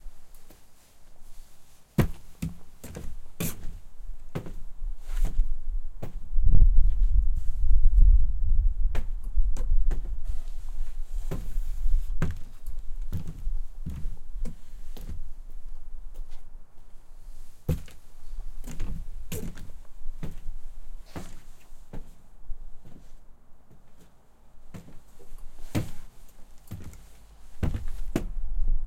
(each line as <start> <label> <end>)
1.3 footsteps 8.1
8.9 footsteps 16.4
17.3 footsteps 22.2
24.7 footsteps 28.4